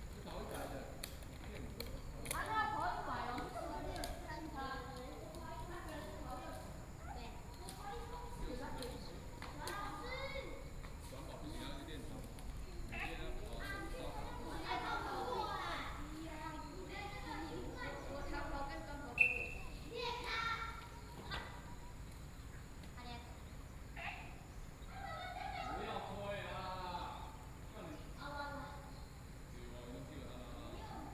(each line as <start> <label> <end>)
0.0 Children and teachers 31.1
0.0 Children are learning inline wheels 31.1